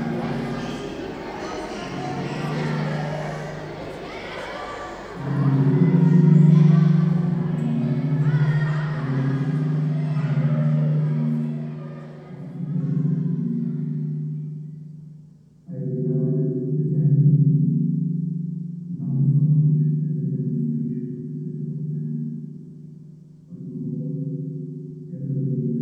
0.0s children 15.4s

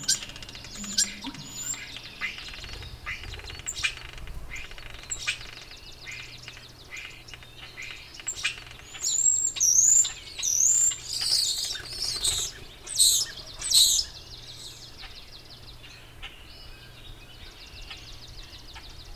0.0s Dawn chorus activity 2.8s

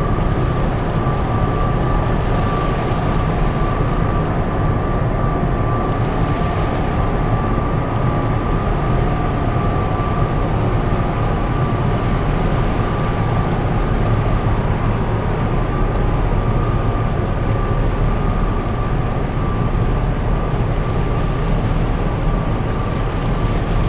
0.0s calm and quiet sea 23.8s

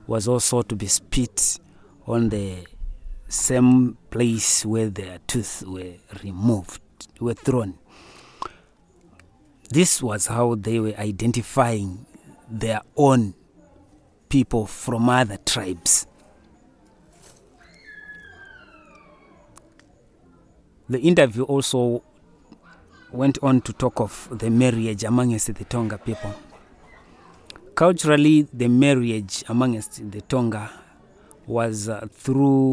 0.0s English summary of the interview 7.8s

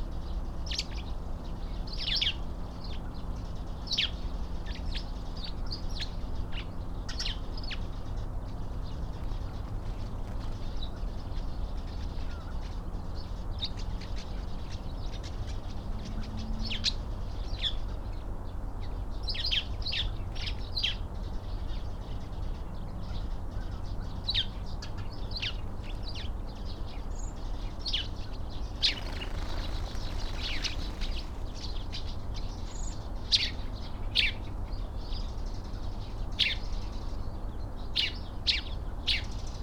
28.7s blue tit 33.0s
28.7s tree sparrow 32.5s
28.8s magpie 31.8s
28.8s jackdaw 32.0s
28.8s pheasant 32.2s
28.8s goldfinch 32.5s
28.8s blackbird 33.0s

